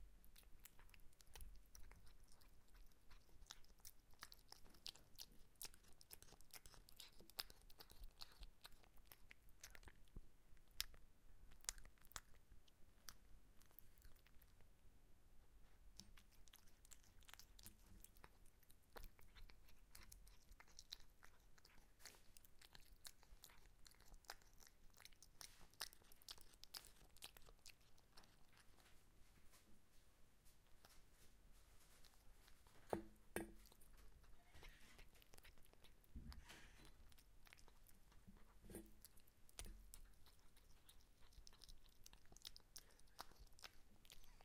cat eating its meal 0:00.0 - 0:29.2
cat eating its meal 0:31.8 - 0:44.4

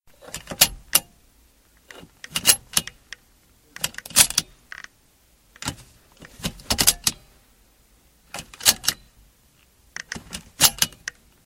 seatbelt in a car being buckled in 0:01.9 - 0:03.0
seatbelt in a car being buckled in 0:05.6 - 0:07.2
seatbelt in a car being buckled in 0:08.3 - 0:09.0
seatbelt in a car being buckled in 0:10.0 - 0:11.2

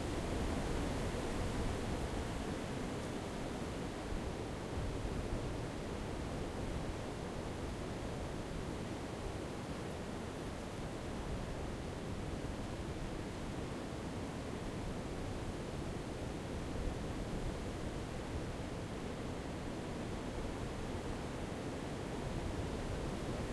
strong wind in the forest front 0:00.0 - 0:23.5

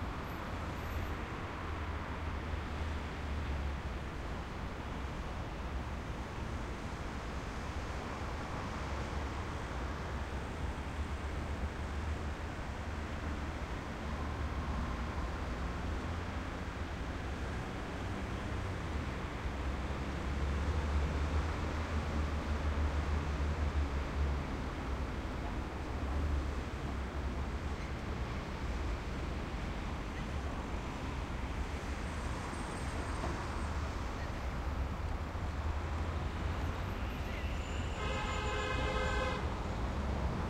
traffic 0:00.0 - 0:40.4

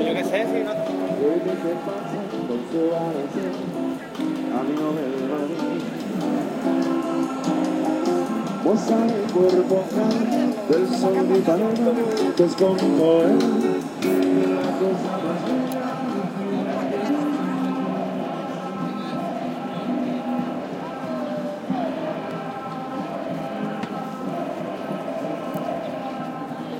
street performer music 0:00.0 - 0:26.7
people shouting slogans against the government 0:14.4 - 0:26.7

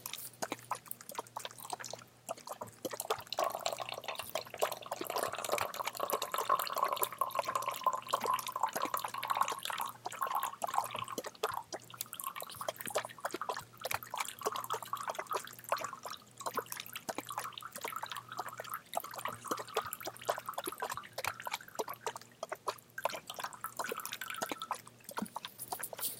bubble 0:00.0 - 0:26.1

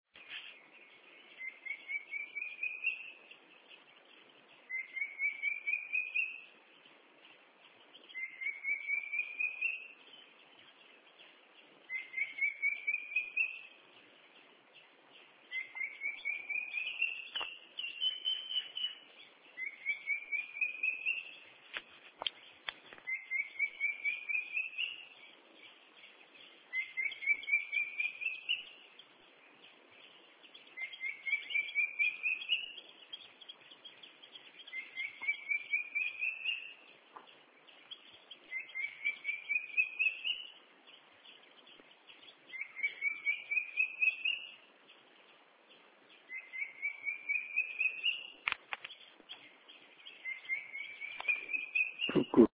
Cuckoo call 0:08.2 - 0:09.9
Cuckoo call 0:11.9 - 0:13.7
Cuckoo call 0:15.5 - 0:19.0
Cuckoo call 0:23.0 - 0:25.0
Cuckoo call 0:26.7 - 0:28.7
Cuckoo call 0:34.7 - 0:36.8
Cuckoo call 0:50.2 - 0:52.5

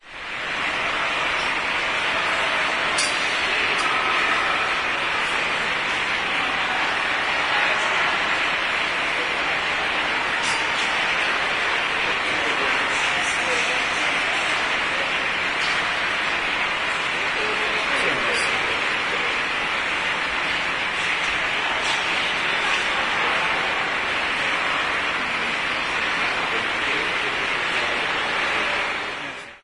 echoing voices 0:00.0 - 0:29.6
water 0:00.2 - 0:29.6

